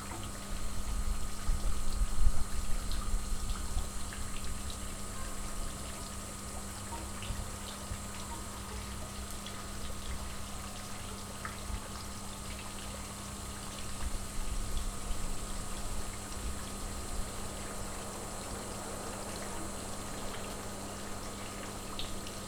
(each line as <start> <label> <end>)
0.0 buzzing pump supplying the flow 22.4
0.0 lazy trickle of the fountain 22.4